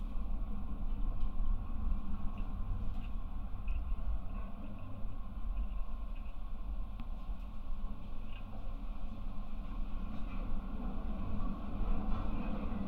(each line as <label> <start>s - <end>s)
railway light tower 0.0s - 12.8s